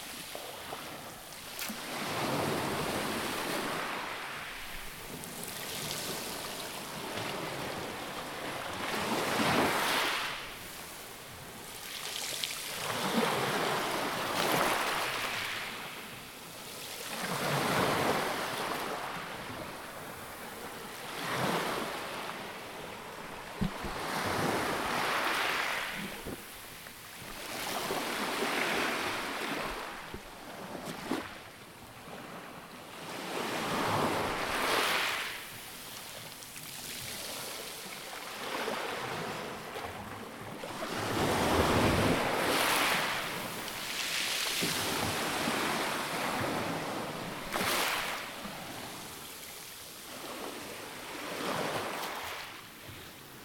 Waves on pebbles 0:11.7 - 0:16.0
Waves on pebbles 0:23.2 - 0:31.4
Waves on pebbles 0:33.6 - 0:39.3
Waves on pebbles 0:40.6 - 0:52.5

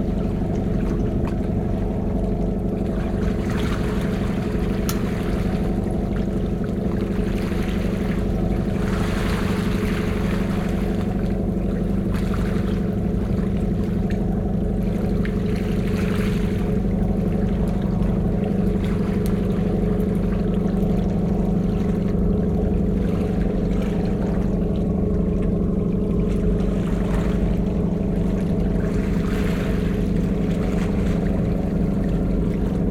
Boat traffic off the coast 0:00.0 - 0:32.9

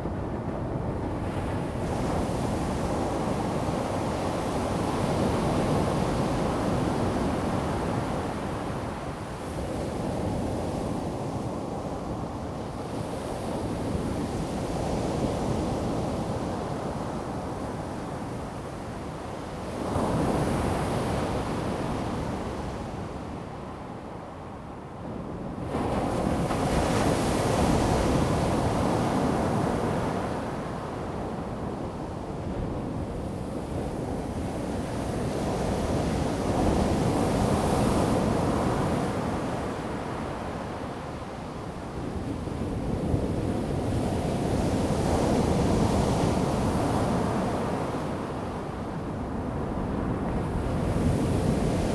waves 0:25.7 - 0:51.9

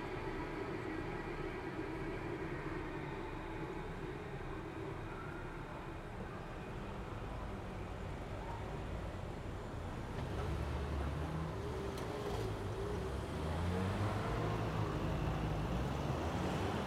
vehicles 0:00.0 - 0:16.8

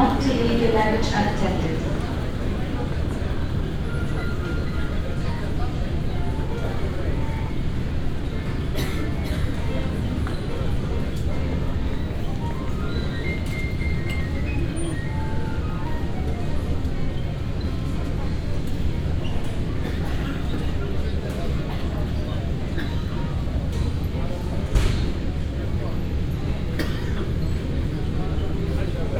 travelers waiting for their bags and heading towards the exit 0:00.0 - 0:29.1

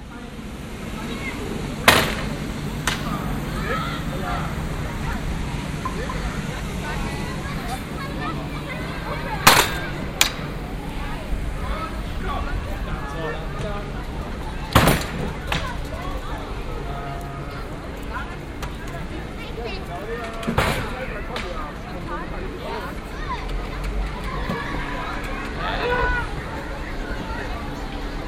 children were too loud 0:23.0 - 0:27.7

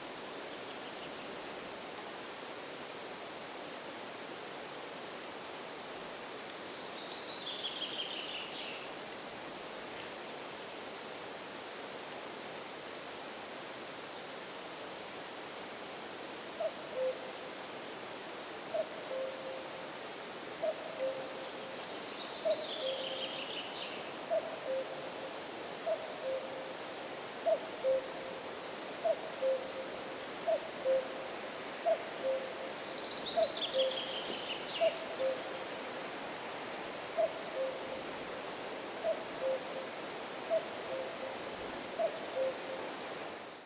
cuckoo 0:27.4 - 0:28.4
cuckoo 0:29.0 - 0:31.2
cuckoo 0:31.8 - 0:32.7
cuckoo 0:33.4 - 0:35.6
cuckoo 0:37.2 - 0:38.1
cuckoo 0:39.0 - 0:39.9
cuckoo 0:42.0 - 0:42.9

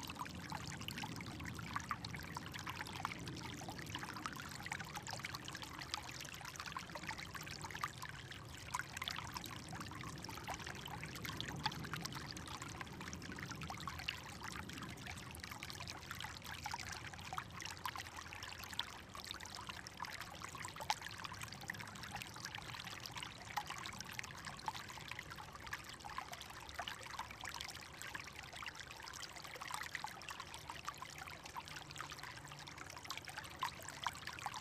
gently running creek 0:00.0 - 0:34.6

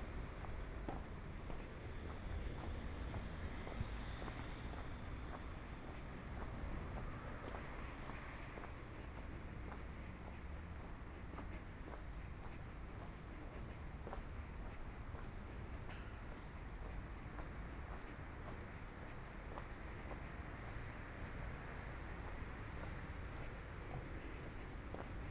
Walking in San Salvario district 0:00.0 - 0:25.3

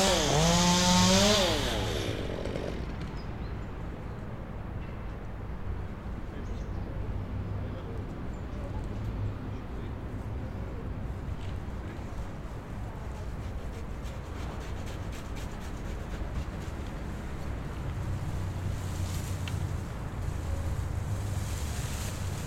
chainsaw 0:00.0 - 0:03.2

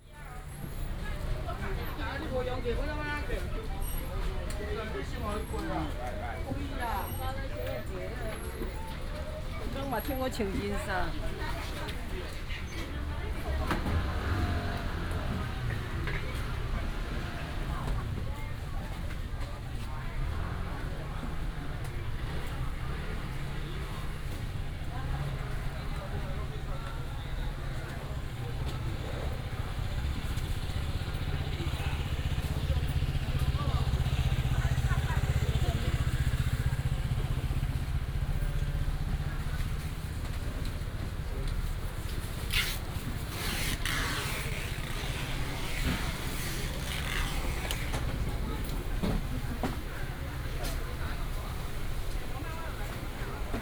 Walking in the wholesale market 0:00.0 - 0:53.6
Traffic sound 0:00.0 - 0:53.6

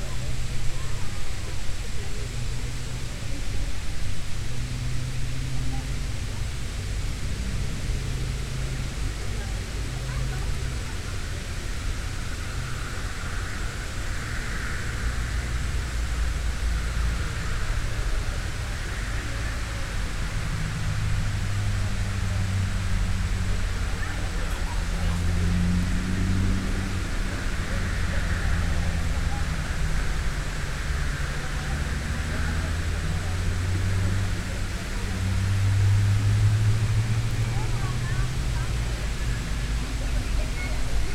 road noise 0:00.0 - 0:41.1
visitors chatting 0:00.0 - 0:41.1
cicadas 0:05.0 - 0:41.1

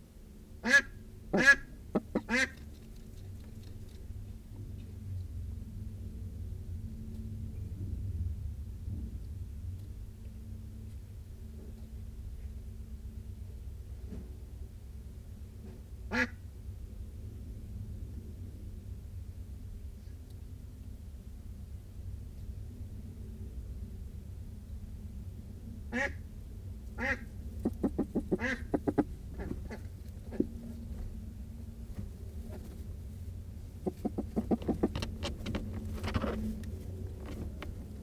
amazing warning noise - very huffy and puffy 0:26.0 - 0:38.0
Ducks and Humans interacting 0:27.0 - 0:30.5
Ducks and Humans interacting 0:33.8 - 0:35.0

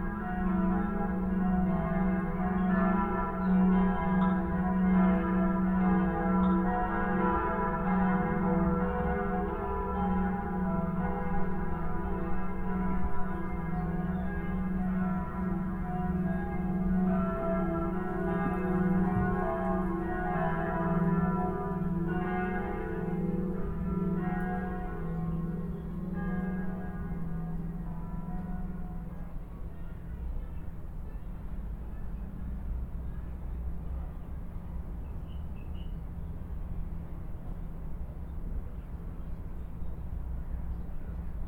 Church bells 0:00.0 - 0:35.1

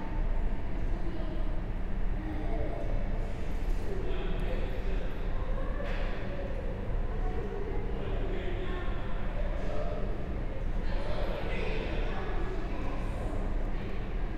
School children chat in the room next door 0:00.0 - 0:14.3

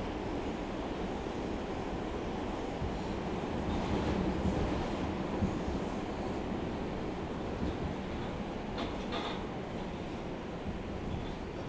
metro train trip 0:00.0 - 0:11.6
passengers 0:00.0 - 0:11.6

